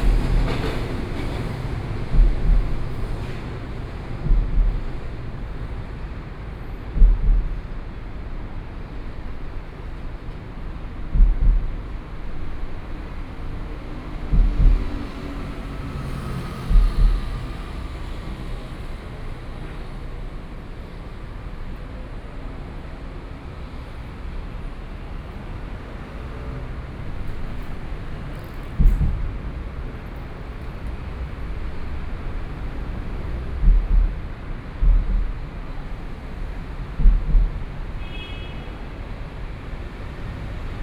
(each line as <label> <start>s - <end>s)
Traffic Noise 0.0s - 40.8s
Train traveling through 0.0s - 40.8s